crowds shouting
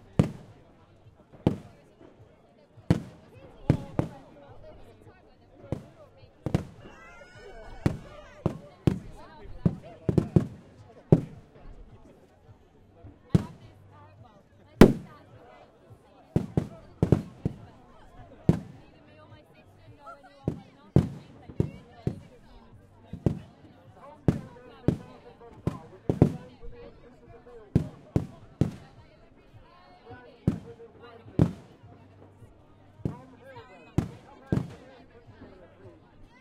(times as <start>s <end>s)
6.6s 8.7s